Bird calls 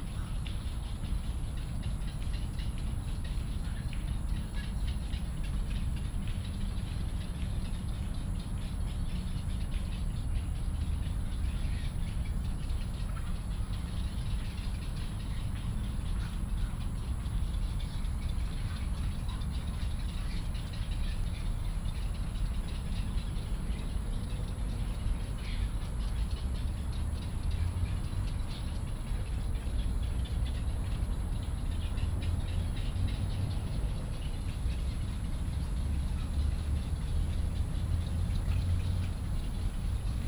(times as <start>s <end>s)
31.8s 40.2s